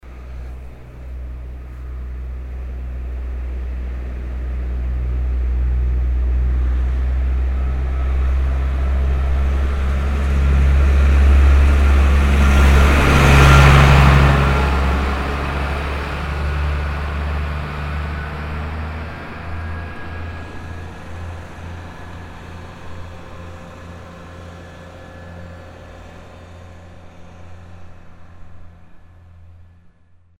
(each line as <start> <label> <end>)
0.0 tractor driving uphill and passing by 30.3